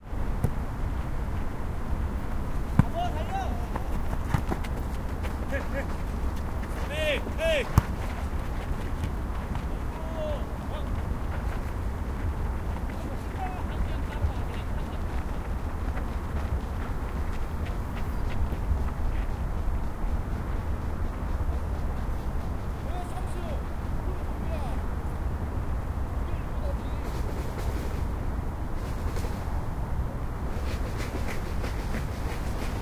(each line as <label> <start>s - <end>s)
Traffic 0.0s - 32.8s
Football match amateur 0.2s - 28.1s
steps 2.2s - 23.8s
voice 2.8s - 3.9s
voice 6.8s - 7.7s
voice 9.6s - 11.0s
voice 12.9s - 15.0s
voice 22.8s - 24.8s
voice 26.2s - 27.2s